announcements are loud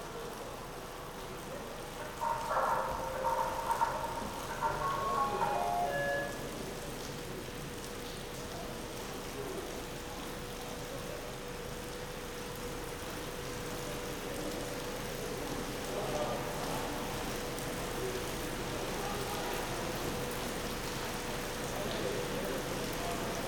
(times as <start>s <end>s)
0.0s 7.8s